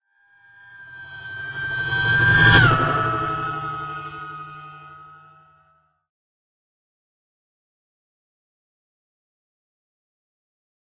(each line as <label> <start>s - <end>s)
fly-by sound 0.4s - 5.8s